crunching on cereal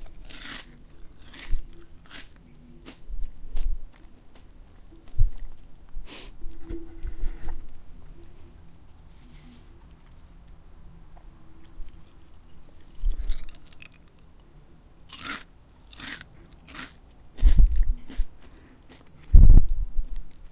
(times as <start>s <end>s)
0.0s 5.6s, 11.6s 14.5s, 15.1s 19.3s